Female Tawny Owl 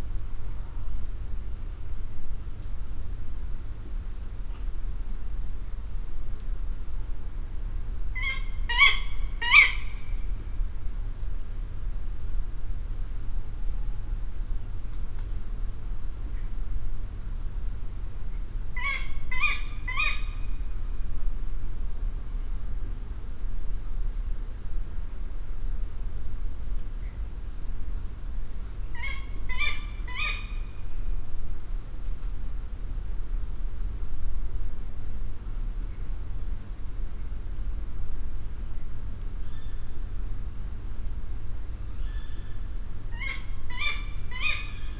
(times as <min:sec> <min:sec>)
0:08.2 0:10.2, 0:18.8 0:20.6, 0:28.9 0:30.8, 0:39.4 0:40.0, 0:42.0 0:44.9